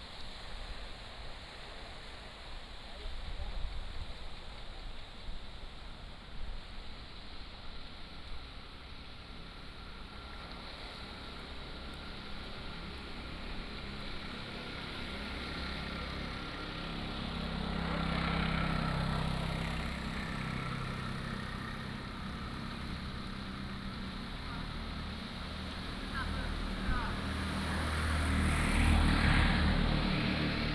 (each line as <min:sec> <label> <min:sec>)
0:00.0 waves 0:30.7
0:11.8 Traffic Sound 0:30.7